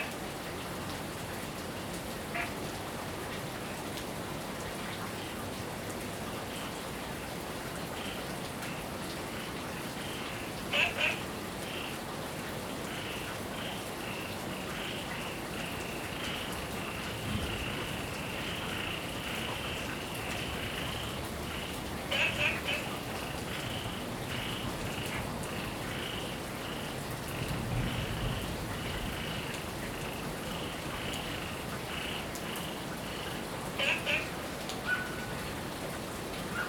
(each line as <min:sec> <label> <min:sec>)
0:00.0 Heavy rain 0:36.6
0:10.0 Frog chirping 0:11.9
0:13.0 Frog chirping 0:26.9
0:33.8 Frog chirping 0:34.3